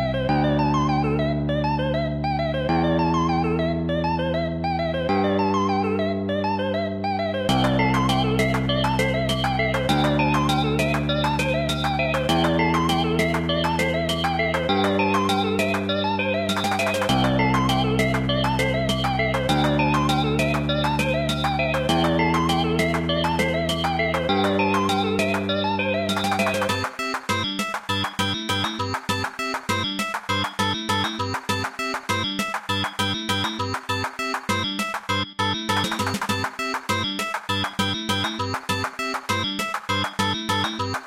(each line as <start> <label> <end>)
0.3 melody 41.0